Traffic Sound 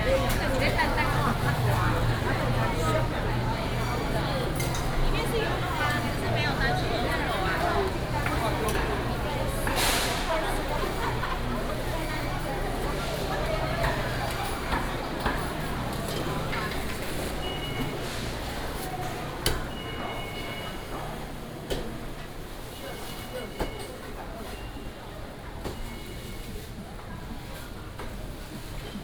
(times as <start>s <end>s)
0.0s 21.6s